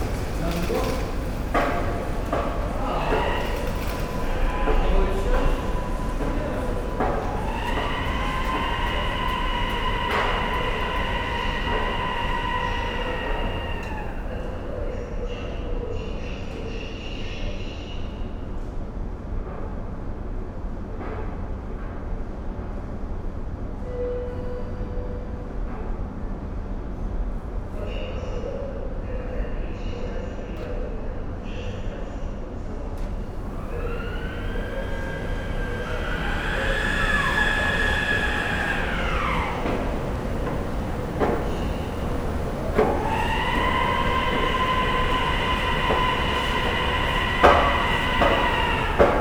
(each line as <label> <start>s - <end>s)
knocking sound towards the end is an escalator 0.0s - 14.4s
people passing by 0.0s - 14.6s
heavy, glass sliding doors 0.0s - 14.7s
train announcements 0.0s - 15.3s
heavy, glass sliding doors 33.1s - 49.2s
train announcements 33.2s - 49.2s
people passing by 33.2s - 49.2s
knocking sound towards the end is an escalator 33.3s - 49.2s